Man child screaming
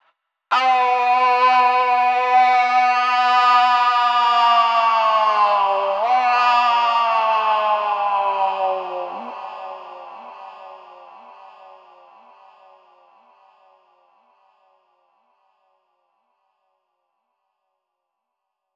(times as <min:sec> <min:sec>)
0:00.5 0:09.3